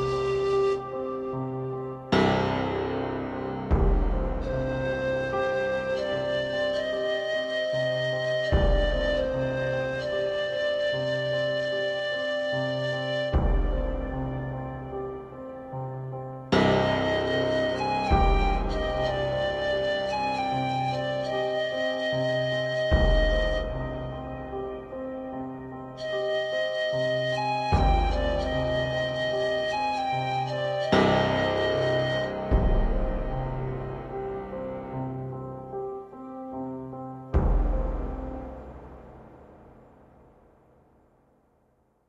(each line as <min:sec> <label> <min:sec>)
0:00.0 Dulcet flute 0:39.0
0:00.0 piano 0:42.0